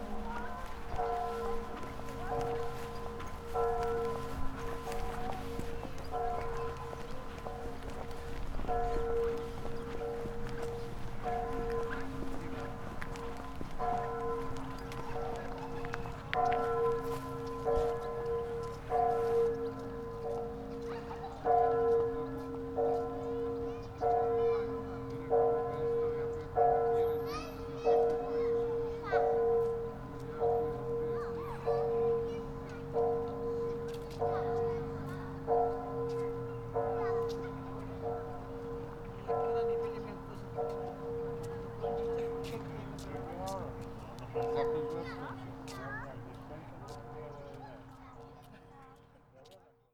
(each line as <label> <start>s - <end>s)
children 0.0s - 49.5s
village bells 0.0s - 49.9s
voices 30.2s - 49.6s